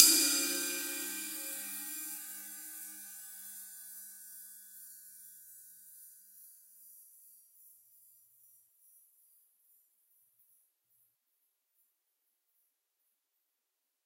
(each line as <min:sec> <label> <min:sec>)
0:00.0 Sizzle Ride Cymbal Hit 0:04.1